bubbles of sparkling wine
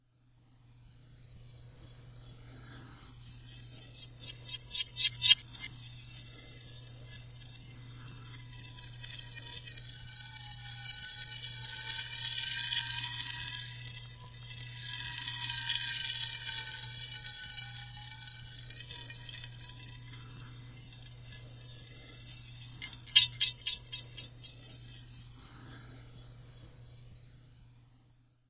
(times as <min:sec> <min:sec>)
0:08.6 0:20.2